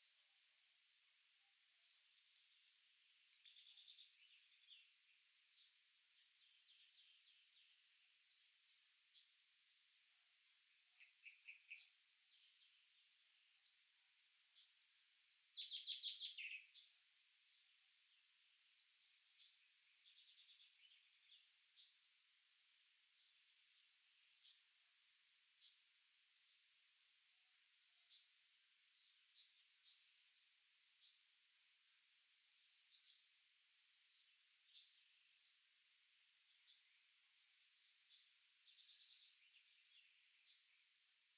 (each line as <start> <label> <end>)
1.6 Birds 41.3